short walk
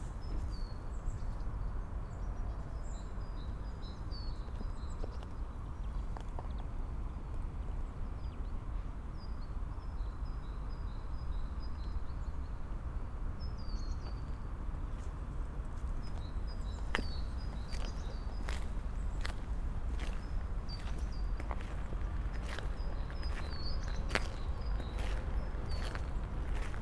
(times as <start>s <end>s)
16.1s 26.8s